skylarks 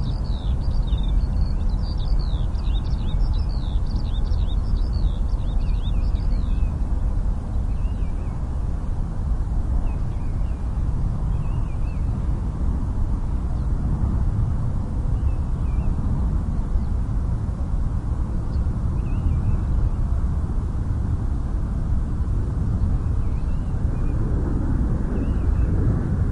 0.0s 8.8s, 14.9s 17.2s, 18.1s 20.3s, 22.2s 26.1s

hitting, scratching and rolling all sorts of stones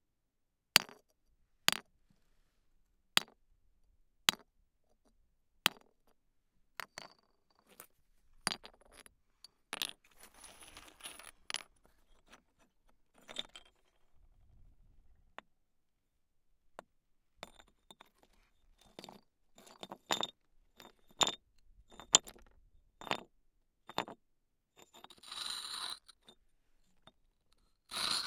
6.8s 9.1s, 9.7s 14.0s

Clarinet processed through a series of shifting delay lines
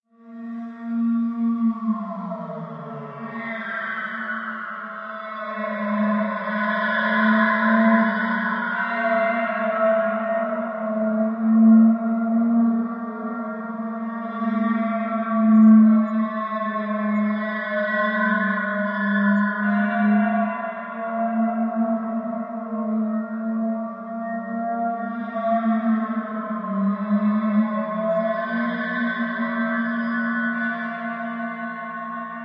11.4s 20.6s

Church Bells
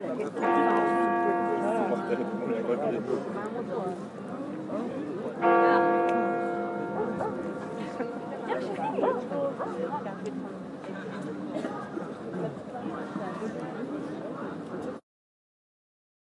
0.4s 3.6s, 5.4s 9.6s

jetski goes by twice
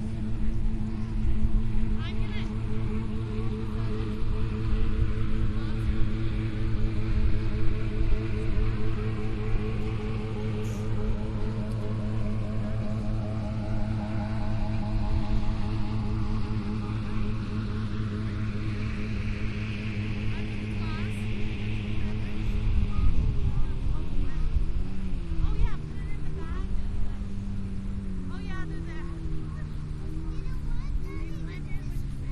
22.8s 32.3s

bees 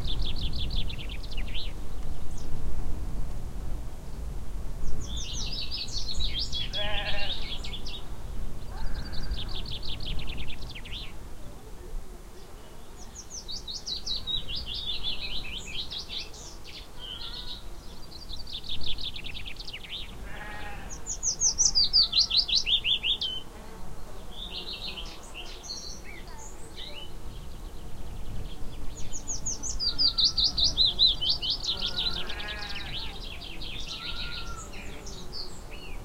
8.7s 36.0s

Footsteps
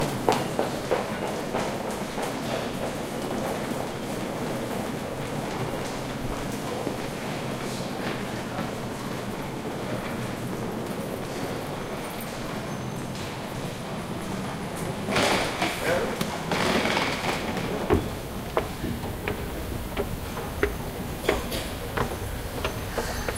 14.2s 23.3s

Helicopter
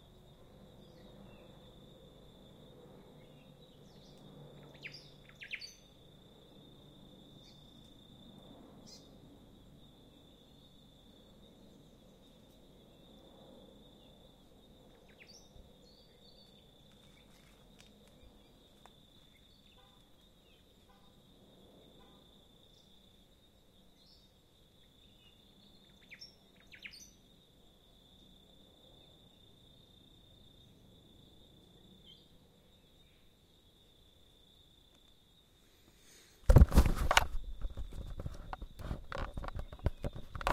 0.0s 10.2s

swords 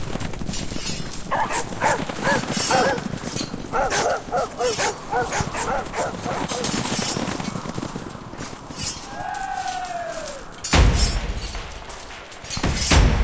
10.6s 13.2s

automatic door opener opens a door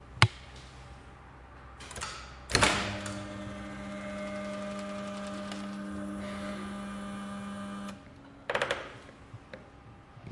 1.8s 8.0s

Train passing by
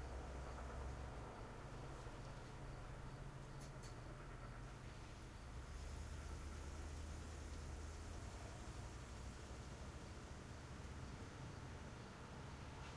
0.0s 3.4s, 4.0s 10.6s

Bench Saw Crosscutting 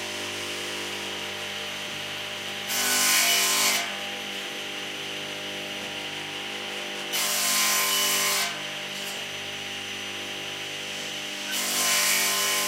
2.3s 4.1s, 11.4s 12.6s

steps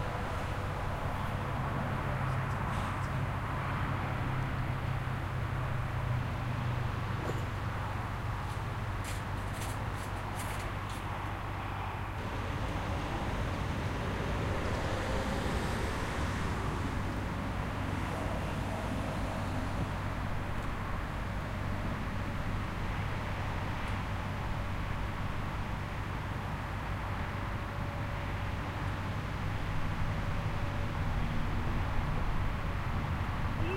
8.4s 11.1s

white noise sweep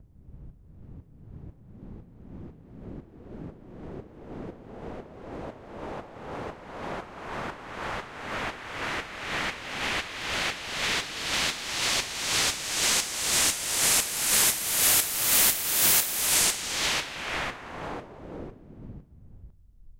9.1s 18.5s

